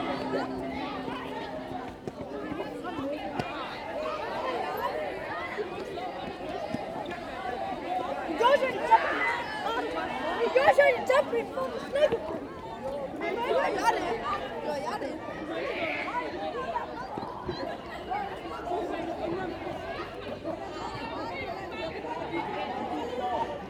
playing the tuning fork sculptures 0:00.0 - 0:03.2

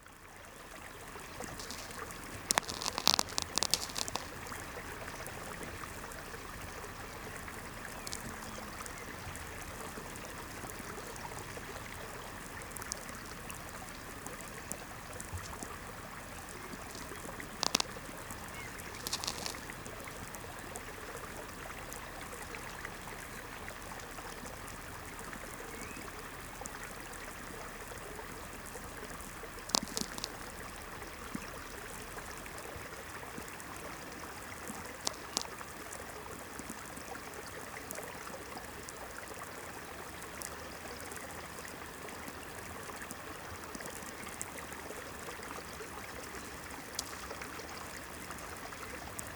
distant streamlet 0:00.0 - 0:49.3
distant lightnings cracklings on VLF 0:01.1 - 0:23.9

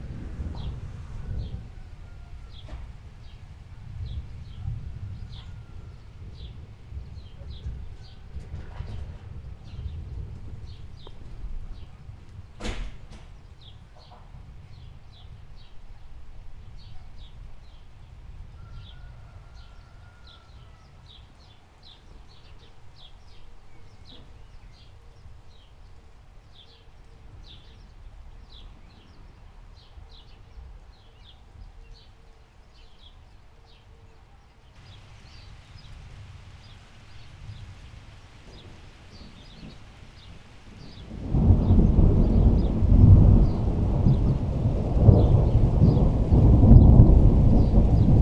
thunder 0:00.0 - 0:11.8
rain 0:00.0 - 0:48.2
thunder 0:12.4 - 0:14.1
thunder 0:40.8 - 0:48.2

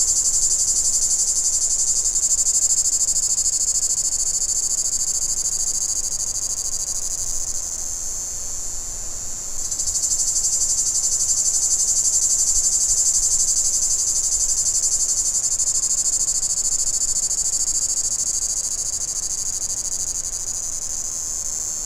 cicada 0:00.0 - 0:21.8

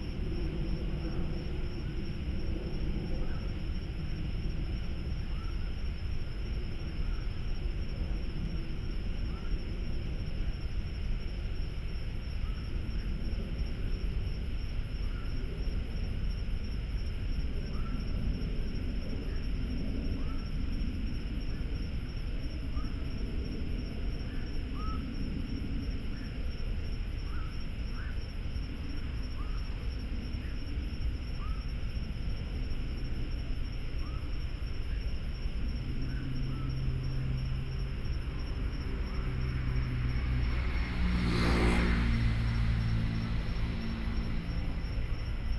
Frogs 0:00.0 - 0:45.5
Traffic Sound 0:35.6 - 0:45.5

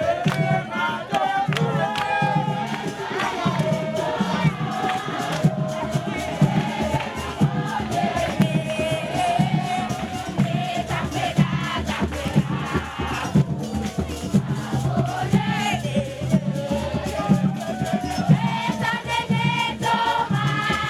playing drums 0:00.0 - 0:20.8

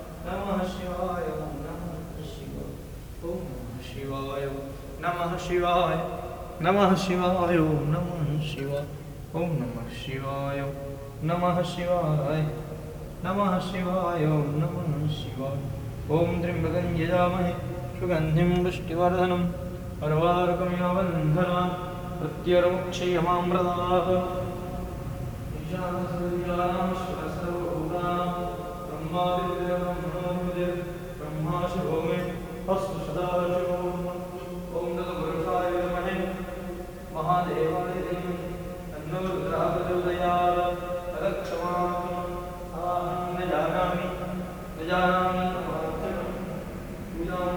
hum of Kampala resonates in the dome of the temple 0:00.0 - 0:47.5
praying 0:00.0 - 0:47.5

